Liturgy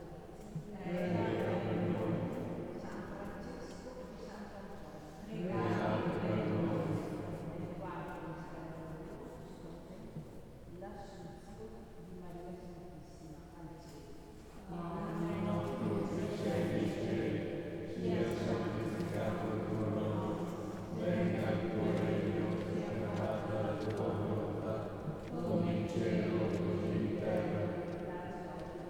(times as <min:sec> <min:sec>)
0:00.0 0:04.0, 0:05.2 0:08.6, 0:14.6 0:28.8